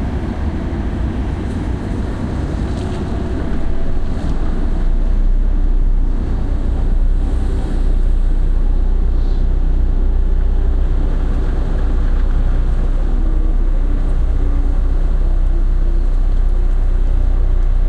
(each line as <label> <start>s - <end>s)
excavator 0.0s - 17.8s